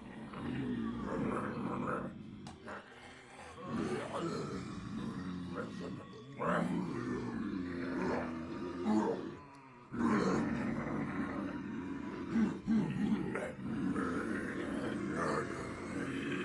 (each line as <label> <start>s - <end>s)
people pretending to be zombies 0.0s - 16.4s